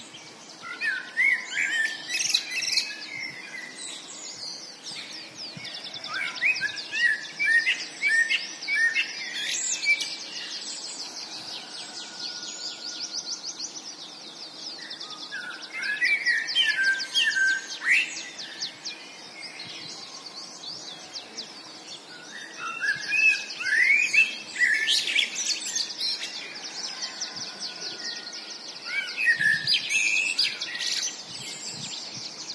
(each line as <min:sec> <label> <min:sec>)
0:00.0 Blackbird 0:32.5
0:00.0 birds singing 0:32.5